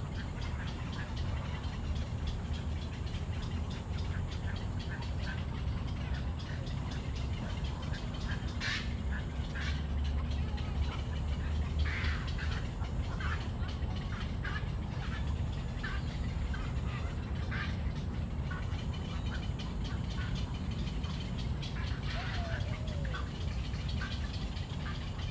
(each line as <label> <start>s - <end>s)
Traffic noise 0.0s - 25.3s
Bird calls 0.0s - 25.3s